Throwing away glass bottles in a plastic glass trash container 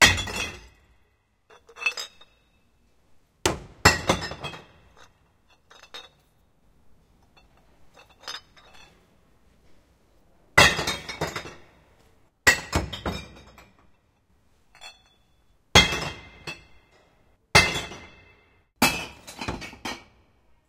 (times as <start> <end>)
3.5 6.2, 10.6 11.7, 12.5 13.8, 18.8 20.1